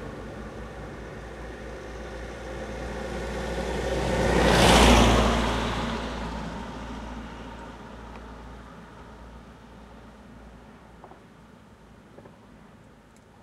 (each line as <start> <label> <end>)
0.0 wind 13.4